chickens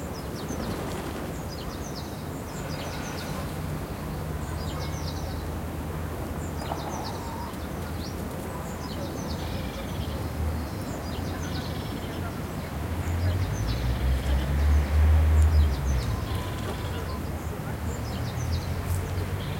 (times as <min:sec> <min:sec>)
0:06.6 0:09.8